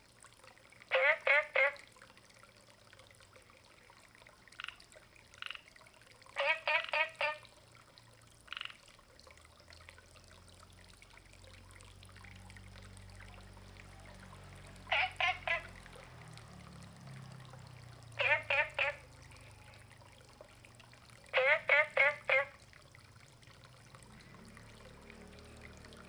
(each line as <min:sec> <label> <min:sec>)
0:00.9 Frogs chirping 0:01.8
0:04.6 Frogs chirping 0:05.7
0:06.4 Frogs chirping 0:07.5
0:08.5 Frogs chirping 0:08.8
0:13.9 Frogs chirping 0:16.6
0:17.8 Frogs chirping 0:22.7